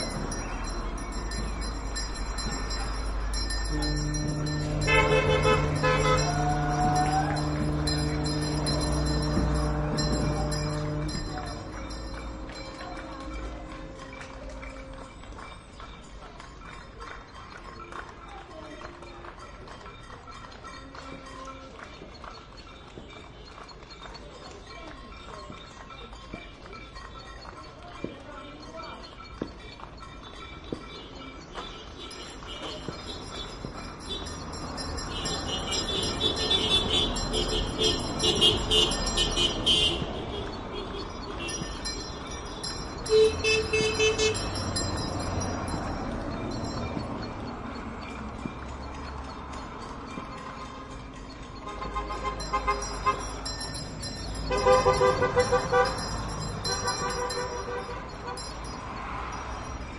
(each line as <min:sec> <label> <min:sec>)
0:00.0 People clapping 0:59.9
0:00.0 ringing bells 0:59.9
0:00.0 traffic 0:59.9
0:02.4 car horns 0:15.3
0:03.6 ships foghorn 0:13.8
0:05.6 cheering 0:09.0
0:30.7 car horns 0:59.8